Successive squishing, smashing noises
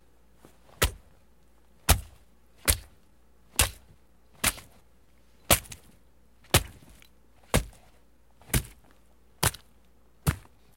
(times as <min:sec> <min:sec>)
0:01.8 0:04.8, 0:05.5 0:10.7